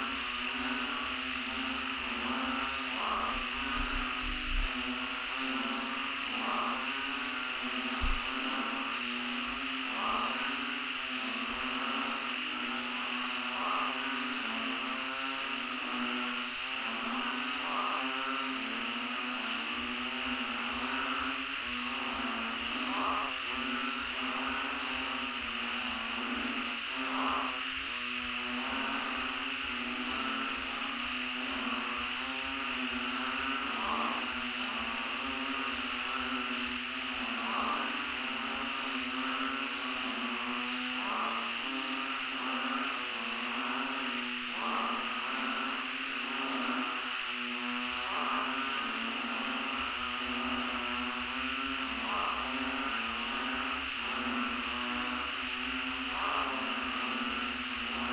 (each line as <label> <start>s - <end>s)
crickets/cicadas 0.0s - 58.1s
frogs 0.0s - 58.1s